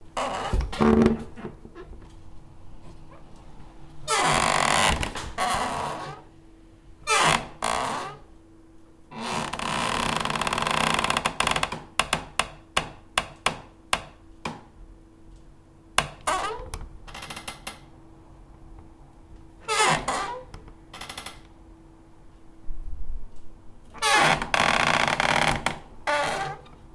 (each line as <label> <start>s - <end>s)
open and closing a wood door 0.2s - 2.1s
open and closing a wood door 4.0s - 6.3s
open and closing a wood door 7.0s - 8.2s
open and closing a wood door 9.1s - 14.6s
open and closing a wood door 16.0s - 17.9s
open and closing a wood door 19.7s - 21.4s
open and closing a wood door 24.0s - 26.8s